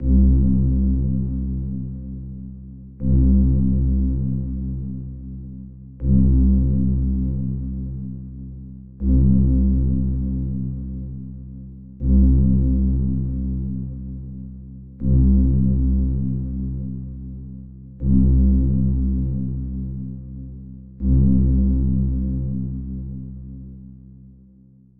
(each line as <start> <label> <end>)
0.0 Deep layered bass 24.9